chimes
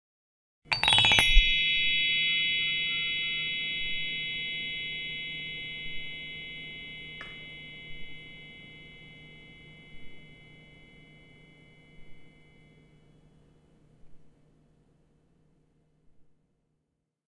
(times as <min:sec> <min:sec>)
0:00.7 0:13.2